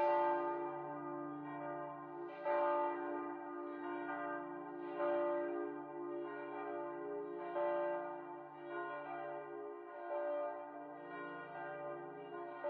church bells 0:00.0 - 0:12.6

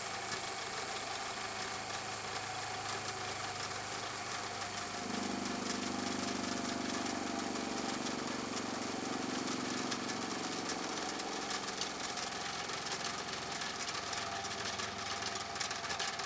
Sander machine motor 0:00.0 - 0:16.2

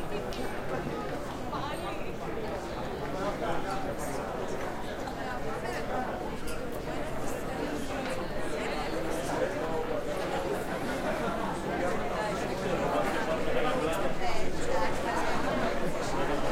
Crowd in a bar 0:00.0 - 0:16.5

